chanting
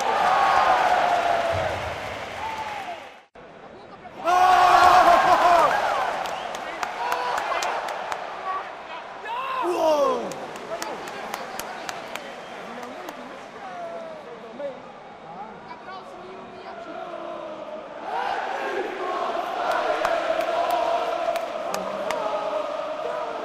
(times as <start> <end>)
16.6 23.4